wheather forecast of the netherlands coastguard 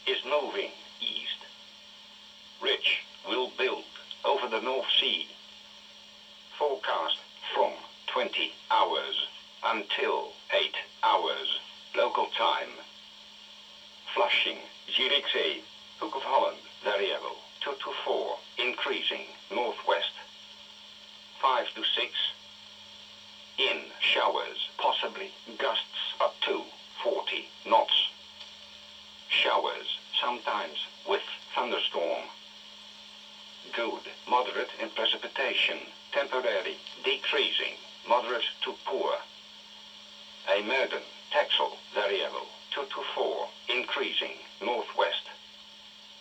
0.0s 1.4s, 2.6s 5.3s, 6.5s 12.9s, 14.1s 20.3s, 21.4s 22.4s, 23.6s 28.2s, 29.3s 32.4s, 33.6s 39.3s, 40.4s 45.4s

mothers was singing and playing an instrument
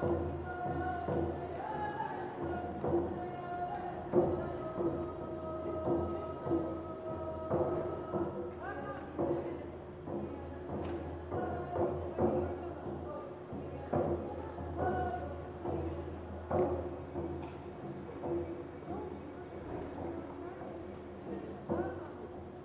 0.0s 17.2s

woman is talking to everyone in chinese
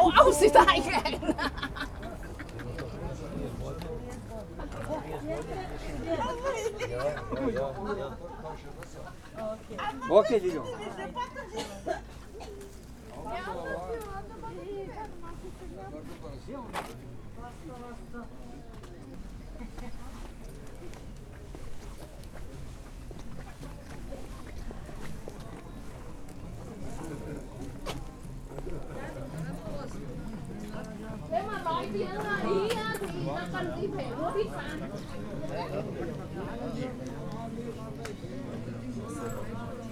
0.0s 1.2s

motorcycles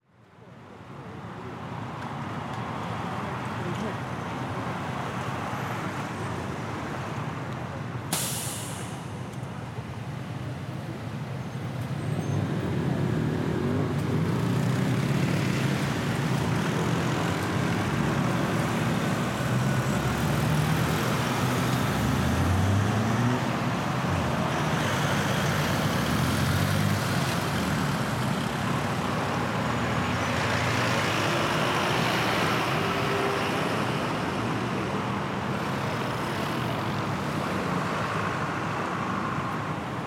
11.8s 34.2s

